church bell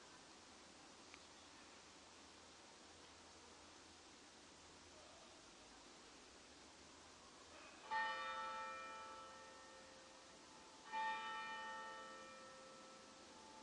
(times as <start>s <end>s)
7.5s 13.6s